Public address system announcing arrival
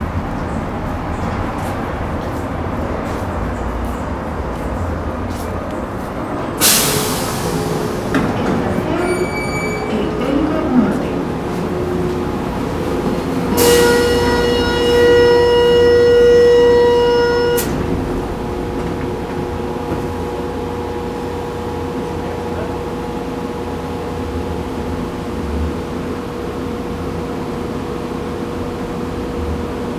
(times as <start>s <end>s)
0.0s 18.1s